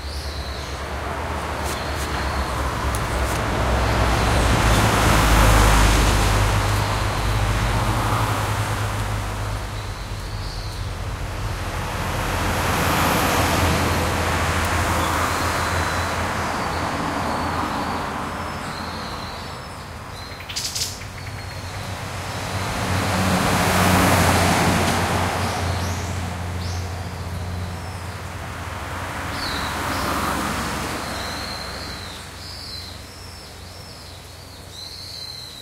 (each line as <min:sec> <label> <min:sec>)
0:00.0 Bamboo forrest 0:11.7
0:00.0 bus 0:35.6
0:00.0 cars 0:35.6
0:00.0 trucks 0:35.6
0:14.7 birds 0:28.4
0:29.0 birds 0:35.6